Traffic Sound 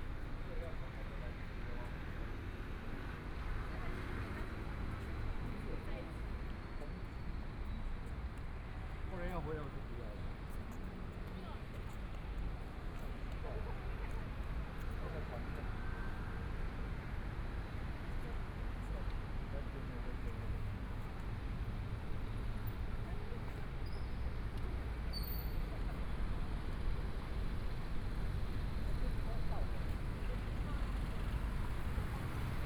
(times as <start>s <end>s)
6.9s 32.6s